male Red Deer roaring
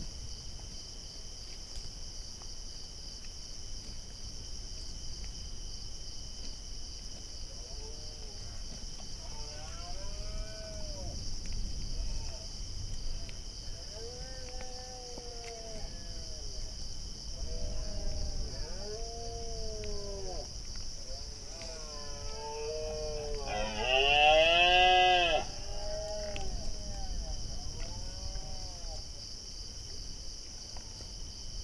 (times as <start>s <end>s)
17.4s 20.5s, 21.4s 29.0s